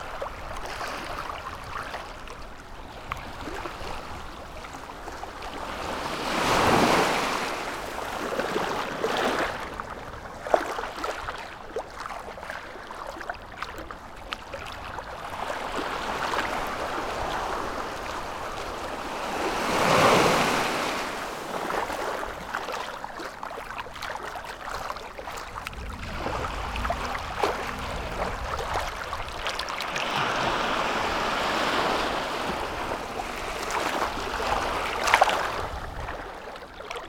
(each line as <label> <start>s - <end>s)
The sea 0.0s - 37.0s
very very much wind 25.5s - 29.4s